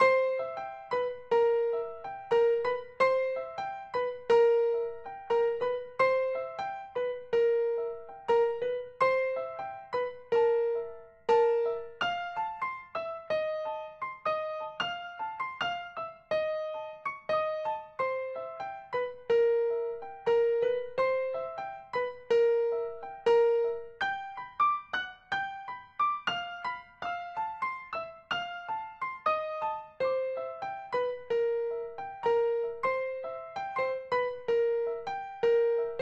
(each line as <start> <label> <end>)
0.0 Piano 36.0